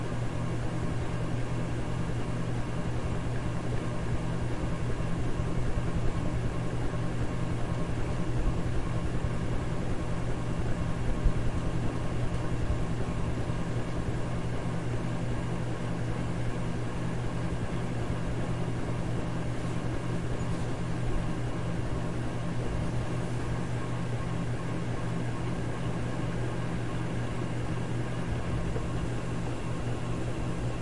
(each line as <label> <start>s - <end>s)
Ceiling Fan 0.0s - 30.8s